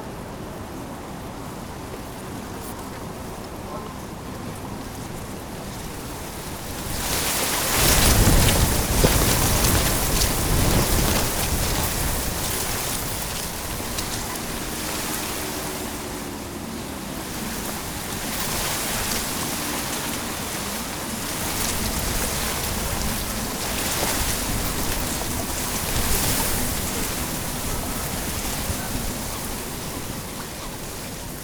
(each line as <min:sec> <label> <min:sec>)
0:00.0 Wind in the reeds 0:31.4